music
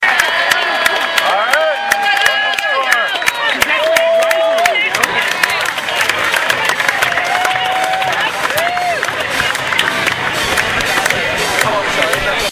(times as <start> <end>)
5.0 12.5